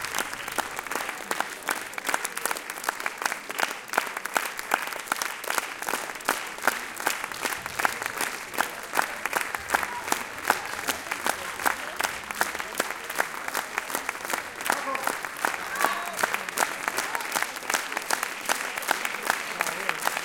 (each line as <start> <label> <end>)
0.0 Applause 20.2
0.0 cheering 20.2
0.0 people start to leave the hall while chatting 20.2